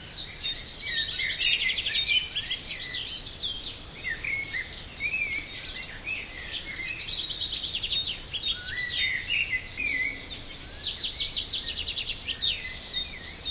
choir of birds 0:00.0 - 0:13.5

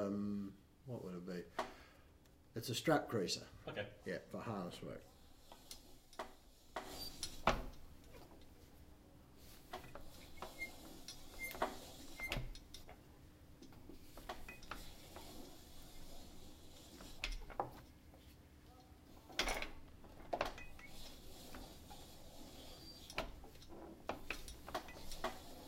stitching, creasing and cutting leather 0:09.7 - 0:12.8
stitching, creasing and cutting leather 0:20.4 - 0:25.6

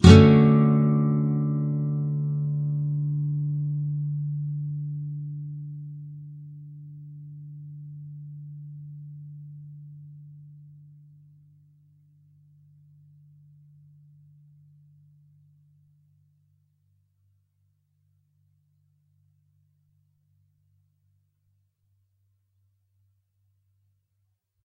nylon guitar 0:00.0 - 0:11.2

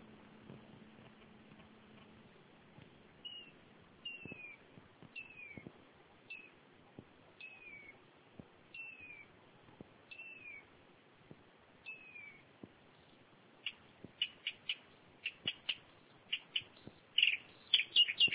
bird 0:03.2 - 0:06.6
bird 0:07.4 - 0:08.0
bird 0:08.7 - 0:09.3
bird 0:10.1 - 0:10.7
bird 0:11.8 - 0:18.3

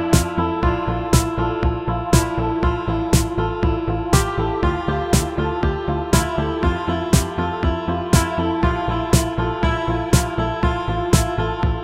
Sweet guitar 0:00.0 - 0:11.8
piano 0:00.0 - 0:11.8

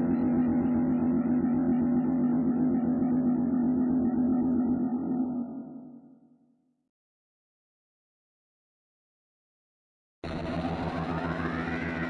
guitar 0:10.3 - 0:12.0

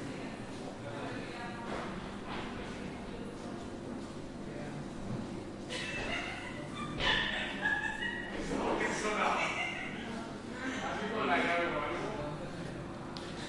people chatting and laughing 0:05.6 - 0:13.4

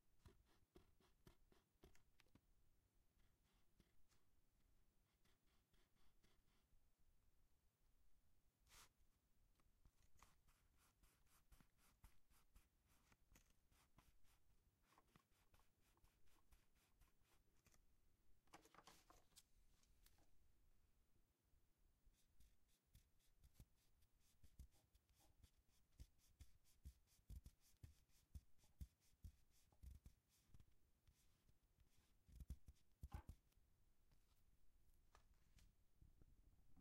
eraser is wiping the pencil line on the paper 0:00.2 - 0:02.0
eraser is wiping the pencil line on the paper 0:05.0 - 0:06.7
eraser is wiping the pencil line on the paper 0:10.2 - 0:17.6
eraser is wiping the pencil line on the paper 0:22.1 - 0:33.4

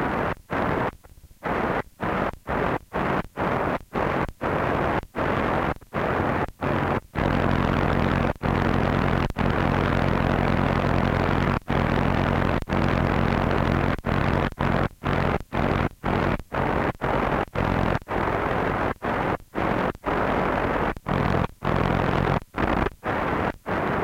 Static radio sound from medium and shortwaves 0:00.0 - 0:24.0

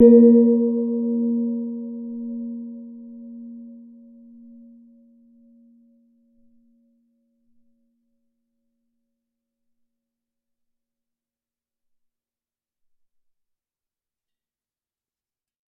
Vietnamese gong 0:00.0 - 0:03.6

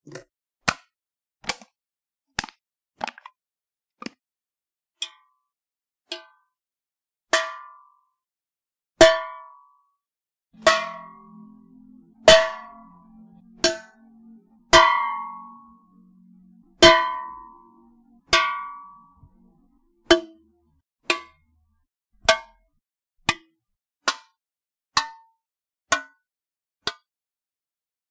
empty soda can being crumpled and tapped 0:02.4 - 0:03.4

